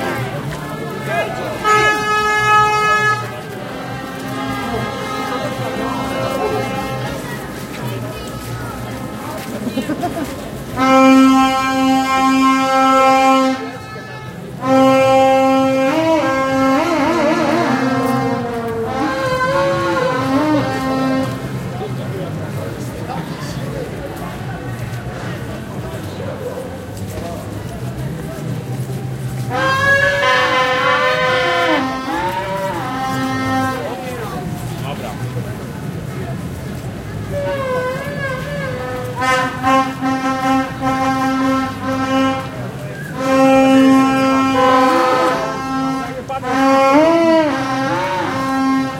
vuvuzela 0.0 - 9.5
vuvuzela 10.6 - 21.8
vuvuzela 28.3 - 48.9

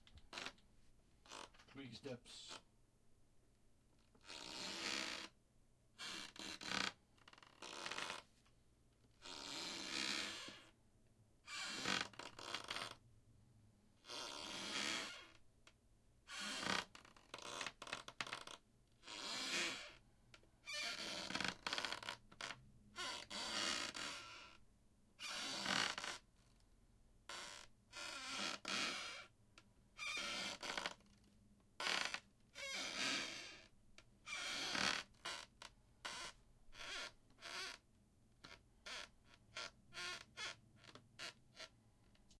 squeaky floor steps 34.3 - 37.8

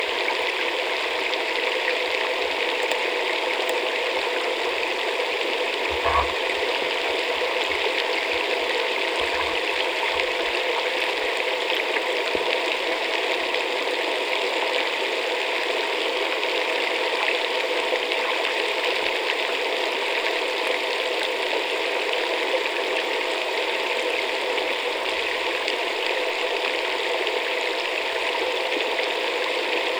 fountain 0.0 - 29.9

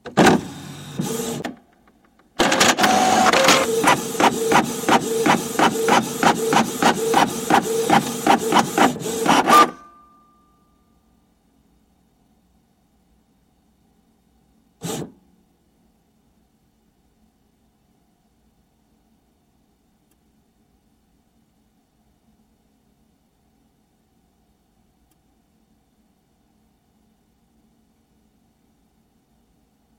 all-in-one printer 0.0 - 1.6
all-in-one printer 2.4 - 10.0
all-in-one printer 14.8 - 15.1

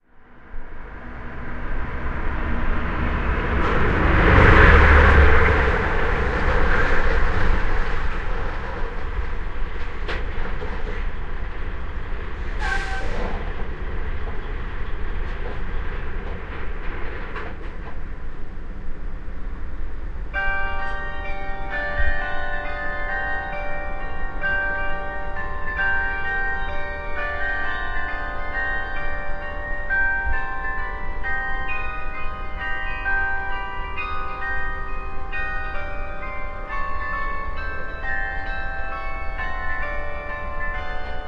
truck 0.5 - 9.0
truck 12.4 - 16.2
clock chimes 20.4 - 41.2

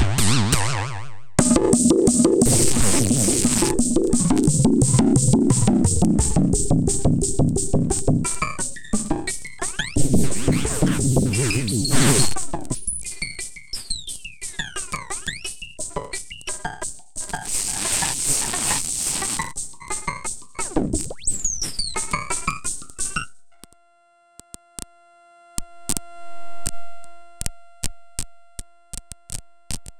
Bass Drum 0.0 - 13.2
Snare Drum 1.4 - 23.2
Bass Drum 17.2 - 21.4

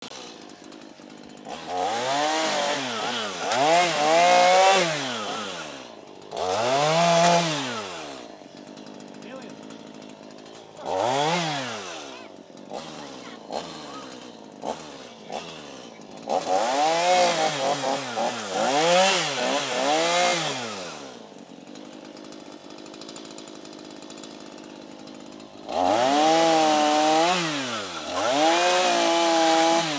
small chainsaw cutting down overgrown bushes 0.0 - 29.9

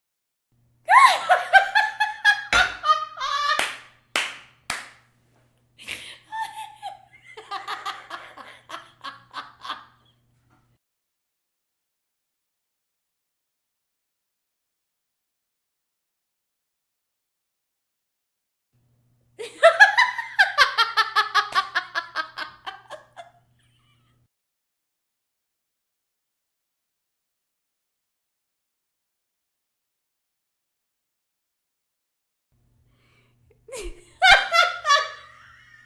Woman Laughing 0.9 - 3.8
Woman Laughing 5.8 - 10.1
Woman Laughing 19.4 - 24.2
Woman Laughing 33.6 - 35.8

